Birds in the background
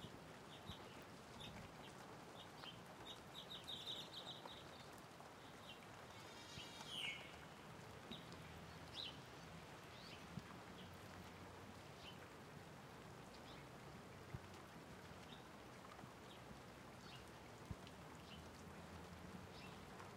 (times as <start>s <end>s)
0.4s 11.1s, 19.5s 20.0s